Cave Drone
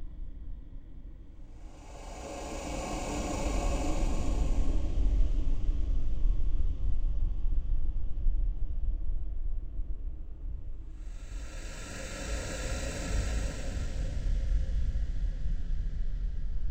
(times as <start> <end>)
1.4 6.6, 11.0 16.0